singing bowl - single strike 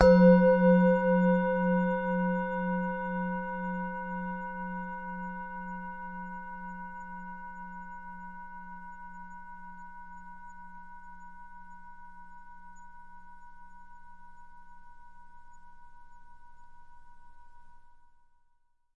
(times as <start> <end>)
0.0 4.6